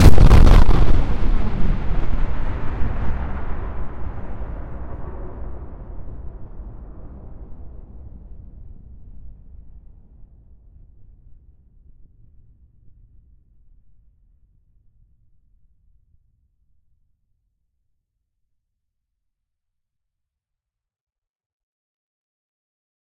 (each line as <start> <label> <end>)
0.0 synthetic explosion sound 4.9